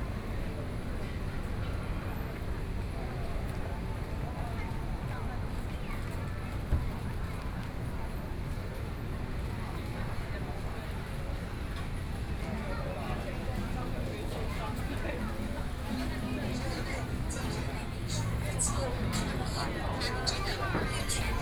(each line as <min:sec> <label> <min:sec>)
0:00.0 Various shops voices 0:21.4
0:00.0 walking in the Street 0:21.4
0:15.2 Traffic Sound 0:21.4